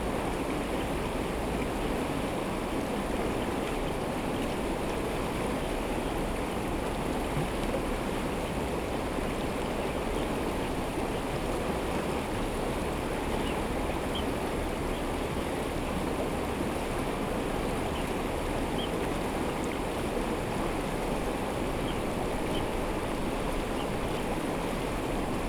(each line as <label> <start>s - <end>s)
Stream sound 0.0s - 25.4s
Birds sound 21.5s - 25.4s